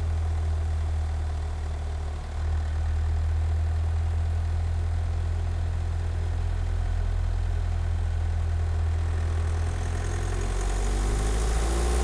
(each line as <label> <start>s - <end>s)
engine 0.0s - 12.0s